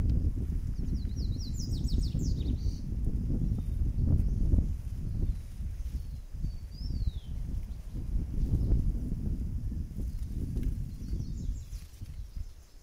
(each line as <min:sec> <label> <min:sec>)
0:00.0 birds 0:09.1
0:00.0 low winds 0:12.8
0:10.0 birds 0:12.8